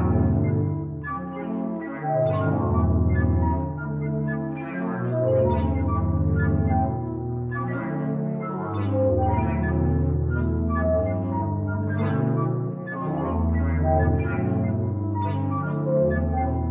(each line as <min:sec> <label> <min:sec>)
0:00.0 sequence of tones, overlapping, at different pitches 0:16.7